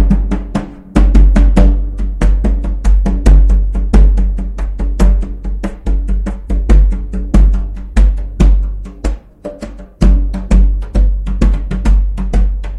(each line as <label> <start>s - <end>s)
djembe played by myself improvisationally 0.0s - 12.7s